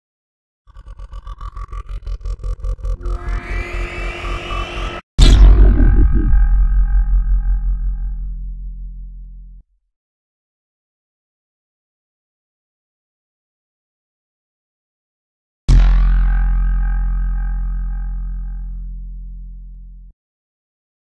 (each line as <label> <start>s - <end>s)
Space Laser 3.0s - 8.2s